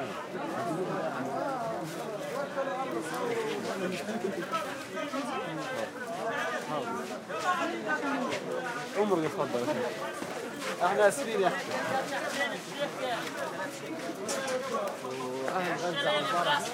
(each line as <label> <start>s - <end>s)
market activity1 busy 0.0s - 16.7s